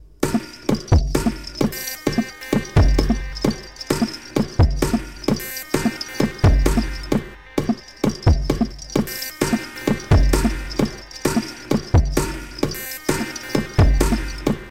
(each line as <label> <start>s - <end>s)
drum 0.2s - 14.7s